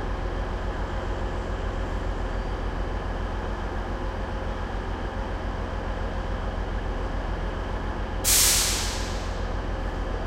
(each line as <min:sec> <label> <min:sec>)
0:08.3 Train Engine Starts 0:09.6